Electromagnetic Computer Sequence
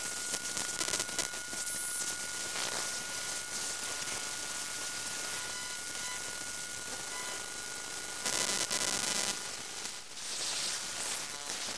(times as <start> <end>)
0.0 9.4